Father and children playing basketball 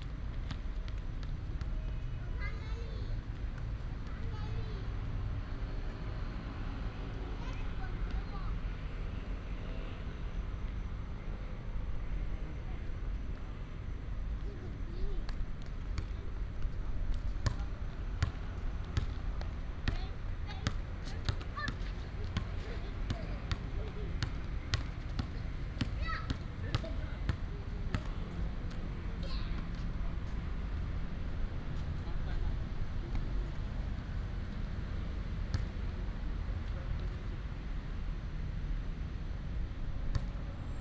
0.1 9.0, 14.3 30.9, 35.4 37.4

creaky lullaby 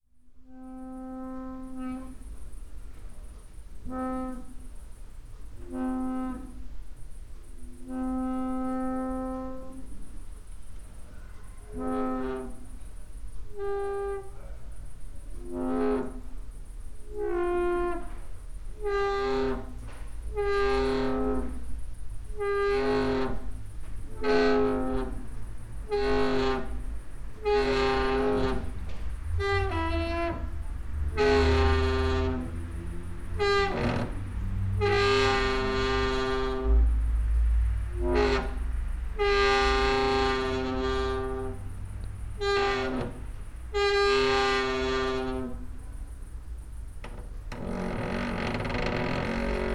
25.9 36.9, 39.4 41.7, 42.6 45.8, 47.0 49.7

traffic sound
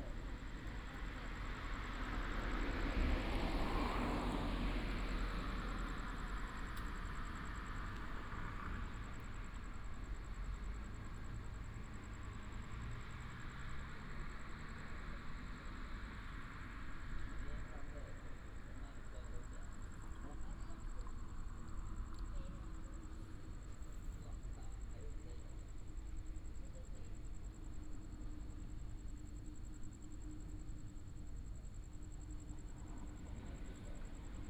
0.0 25.1

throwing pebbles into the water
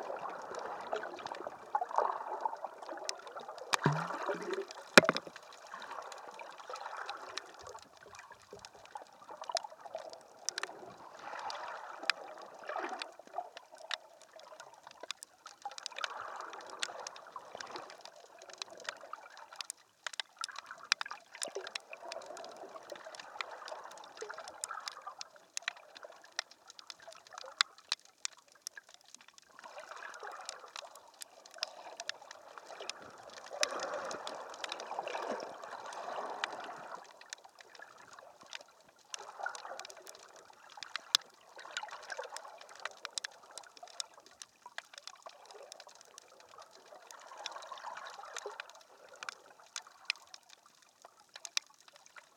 3.8 5.9

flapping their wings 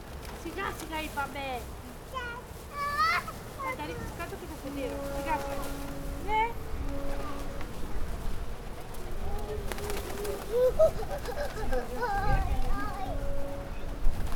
0.0 1.4, 4.2 6.1, 8.6 14.3

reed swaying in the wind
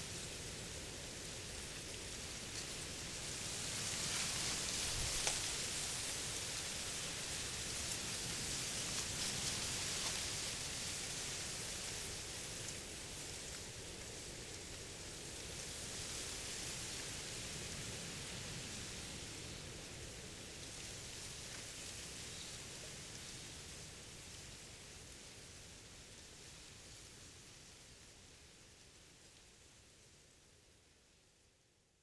0.0 15.8

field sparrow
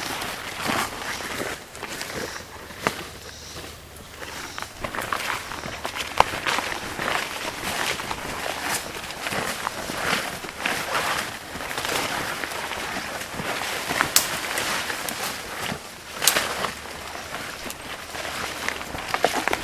0.0 11.2

